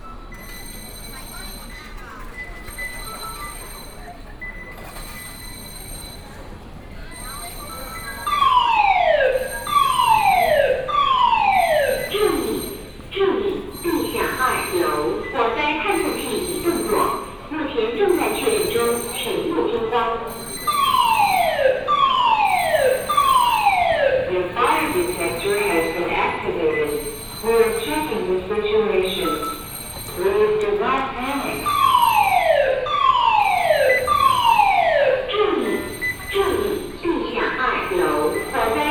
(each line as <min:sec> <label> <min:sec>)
0:00.0 Walking in the station 0:38.9
0:08.2 Warning sound broadcasting 0:29.6
0:30.2 Warning sound broadcasting 0:38.9